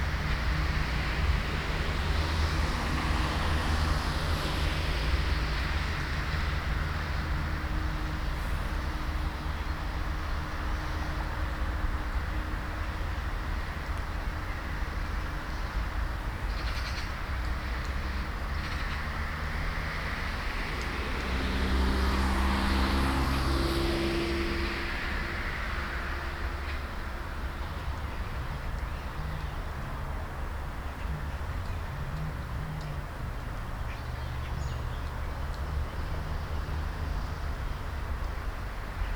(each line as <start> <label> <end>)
0.0 distant traffic 39.1